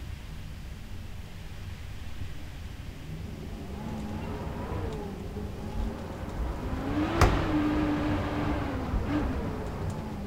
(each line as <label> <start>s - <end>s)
strong wind 0.5s - 10.2s